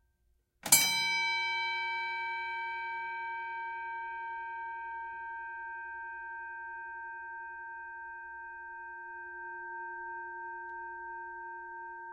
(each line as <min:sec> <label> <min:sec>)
0:00.7 Boxing bell, various rings dings pulses close distant 0:09.1